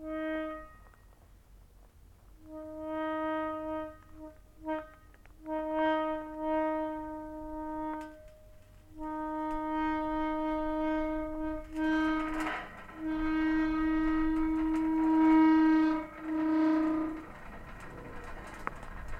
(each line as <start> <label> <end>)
0.0 wind 19.1
2.5 rusty gate 19.1